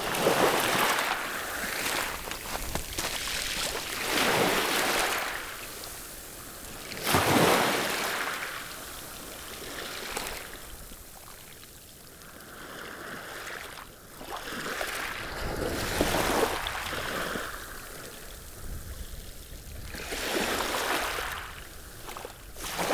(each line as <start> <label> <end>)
0.0 waves lapping on the gravels 22.9